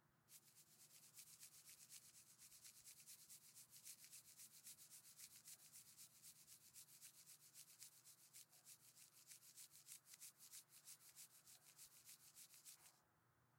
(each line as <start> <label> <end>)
0.3 Fast scratching noise 13.0